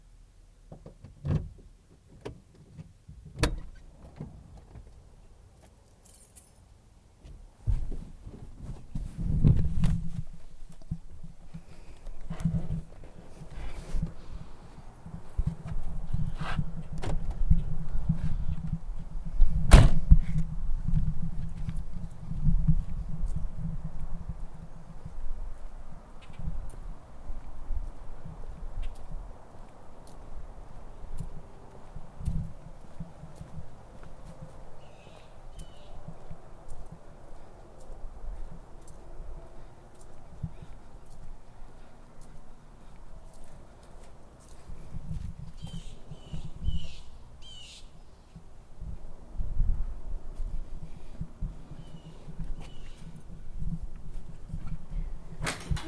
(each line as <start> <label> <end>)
0.7 me opening the door and walking 47.1
3.4 opening the door 4.4
49.7 me opening the door and walking 55.8